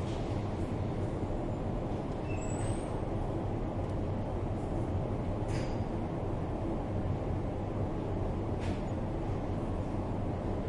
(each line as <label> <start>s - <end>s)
hum of the diesels 0.0s - 10.6s